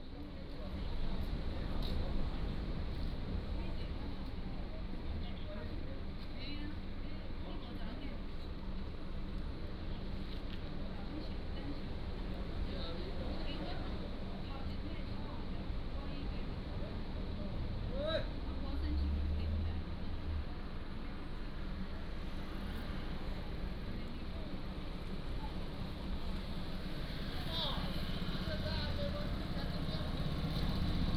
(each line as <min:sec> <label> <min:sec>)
0:00.0 Many tourists 0:31.1